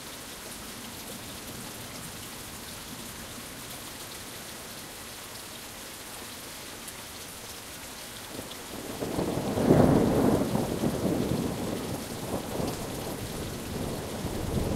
rain 0:00.0 - 0:14.7
thunder 0:08.8 - 0:14.7

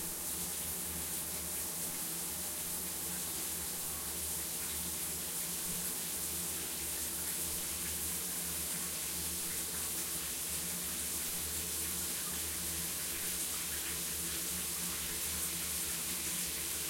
shower 0:00.0 - 0:16.8
water 0:00.0 - 0:16.8

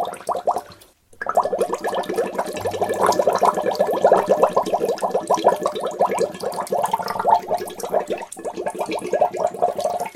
bubble 0:00.0 - 0:10.1
drain 0:00.0 - 0:10.1
gurgle 0:00.0 - 0:10.1
pour 0:00.0 - 0:10.1
trickle 0:00.0 - 0:10.1

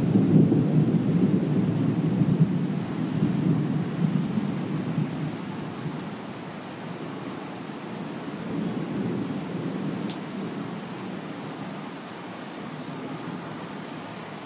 thunder 0:00.0 - 0:05.2
rain 0:00.0 - 0:14.4

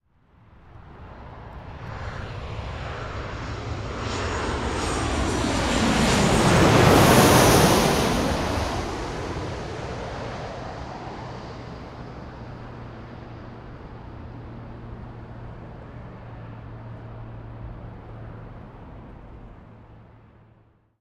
commercial jet passing overhead 0:00.3 - 0:20.6

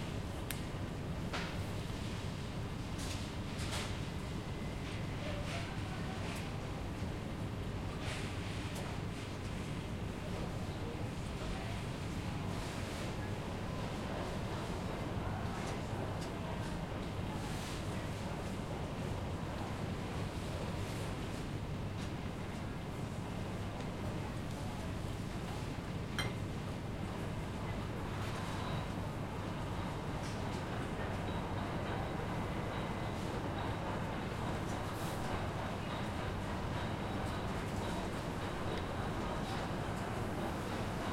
ventilation humming 0:00.0 - 0:03.6
small crowd 0:08.0 - 0:41.1

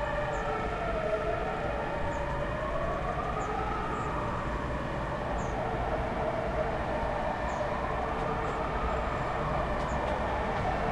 Fire truck siren 0:00.0 - 0:10.9

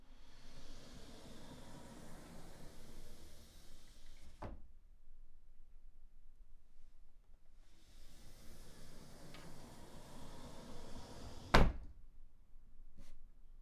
Wardrobe door opening and closing 0:08.3 - 0:12.0

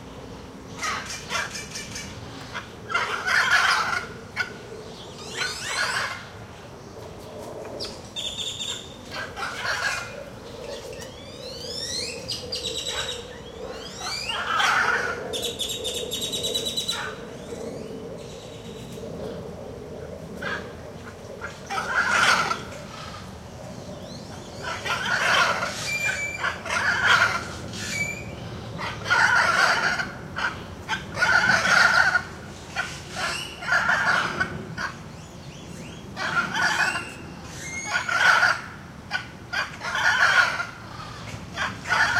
other birds in the background 0:00.7 - 0:19.4
Calls from a pair of Hyacinth Macaws 0:00.8 - 0:04.6
Calls from a pair of Hyacinth Macaws 0:05.2 - 0:06.2
Calls from a pair of Hyacinth Macaws 0:08.6 - 0:10.2
Calls from a pair of Hyacinth Macaws 0:12.7 - 0:15.4
Calls from a pair of Hyacinth Macaws 0:21.4 - 0:23.3
Calls from a pair of Hyacinth Macaws 0:24.6 - 0:28.2
Calls from a pair of Hyacinth Macaws 0:28.8 - 0:35.0
Calls from a pair of Hyacinth Macaws 0:36.2 - 0:42.1

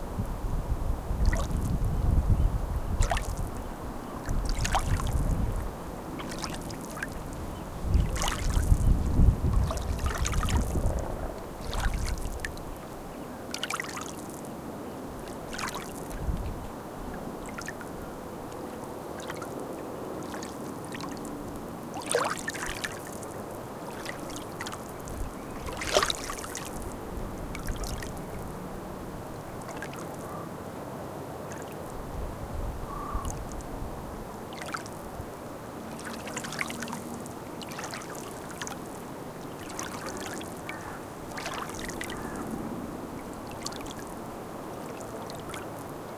water 0:00.0 - 0:46.1
wind 0:00.0 - 0:46.1
crows 0:32.9 - 0:33.4
crows 0:40.7 - 0:41.0
crows 0:42.1 - 0:42.5

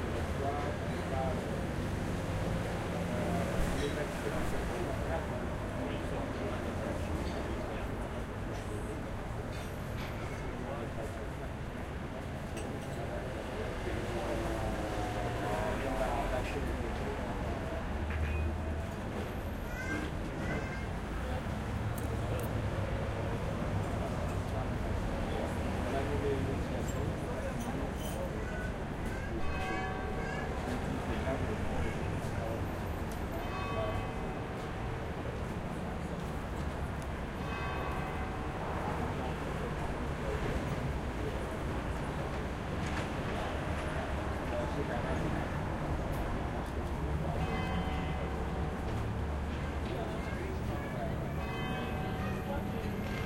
bells 0:29.4 - 0:31.5
bells 0:32.9 - 0:35.1
bells 0:37.4 - 0:40.7
bells 0:47.2 - 0:49.3
bells 0:51.1 - 0:53.2

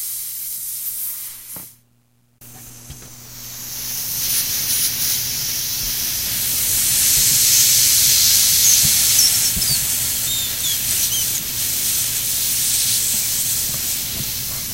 hisses and thick streams 0:03.7 - 0:14.7
balloon blowing up 0:03.8 - 0:14.7
tying the balloon off 0:06.9 - 0:11.8
bouncing the balloon 0:07.1 - 0:11.8
squeaks 0:07.5 - 0:11.5

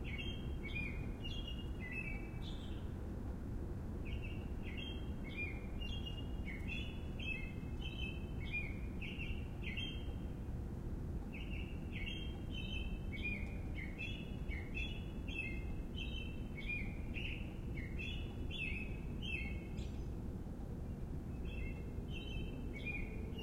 city rumble 0:00.0 - 0:23.4
bird 0:04.1 - 0:10.3
bird 0:11.3 - 0:20.2
bird 0:20.9 - 0:23.4

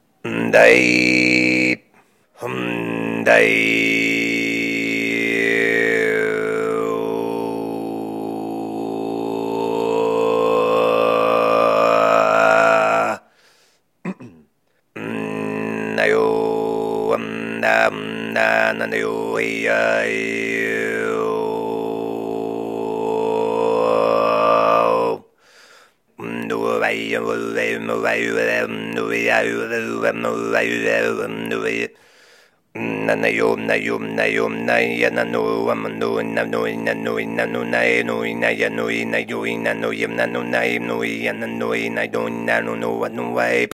Tuvan-esque throat singing 0:00.0 - 0:13.4
Tuvan-esque throat singing 0:14.0 - 0:43.7

